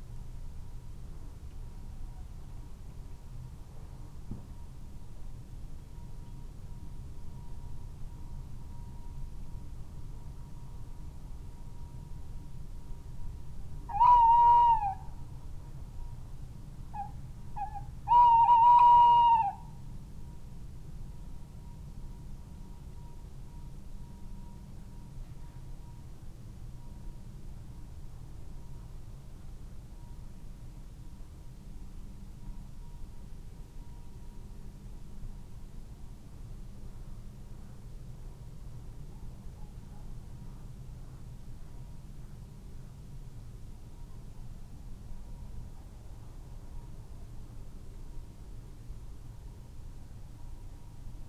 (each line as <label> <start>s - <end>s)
tremulous hoot call 13.9s - 15.0s
tremulous hoot call 17.0s - 19.6s